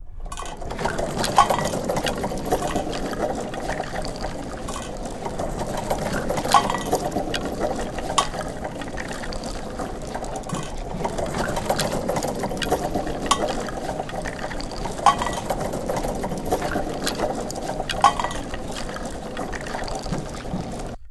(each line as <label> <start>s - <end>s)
Cart bieng pulled full of bones and tin cups 0.0s - 21.1s